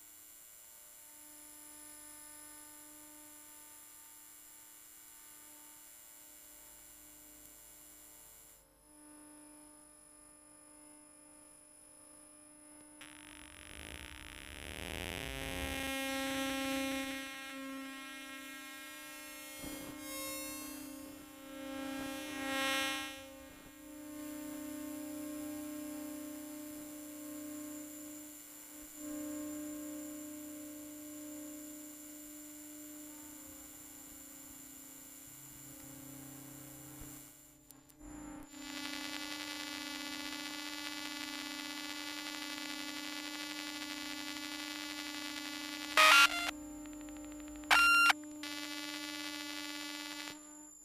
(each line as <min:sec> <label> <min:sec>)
0:12.7 electromagnetic waves 0:37.5
0:38.1 electromagnetic waves 0:50.8
0:46.0 beeps 0:46.5
0:47.7 beeps 0:48.2